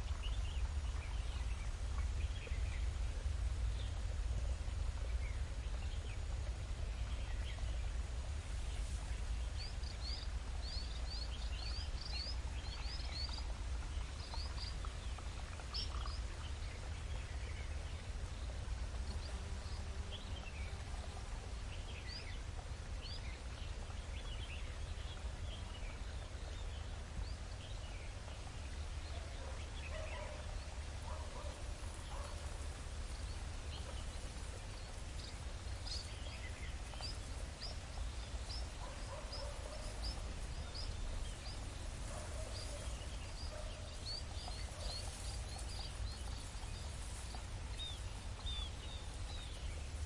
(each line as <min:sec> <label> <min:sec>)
0:00.0 Stream 0:50.0
0:00.0 bird 0:50.0